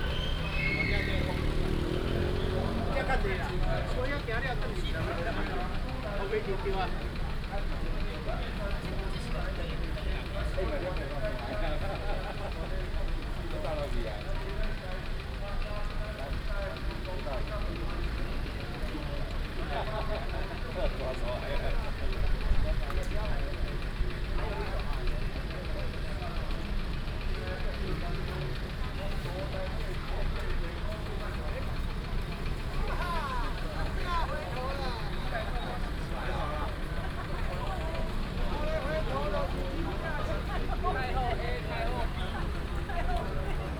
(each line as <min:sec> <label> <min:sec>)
0:00.0 A lot of people 0:43.7
0:00.0 Traffic sound 0:43.7
0:00.0 Whistle sound 0:01.3